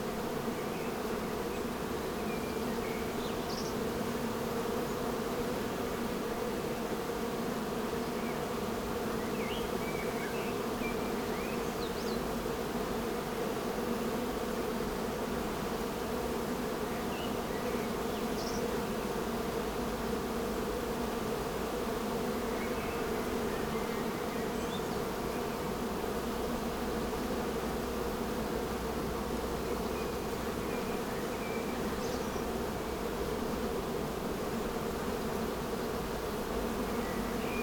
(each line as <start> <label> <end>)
0.0 bee hives 37.6